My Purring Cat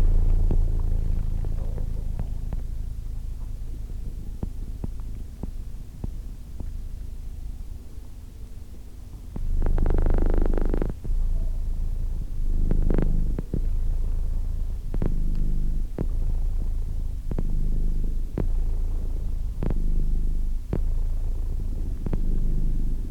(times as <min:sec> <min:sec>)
0:09.3 0:23.1